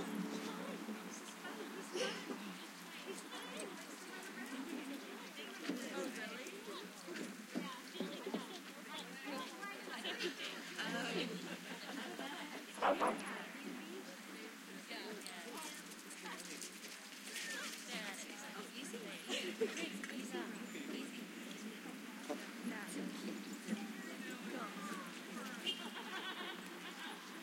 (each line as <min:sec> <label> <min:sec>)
0:00.0 people 0:27.4
0:12.8 barking 0:13.2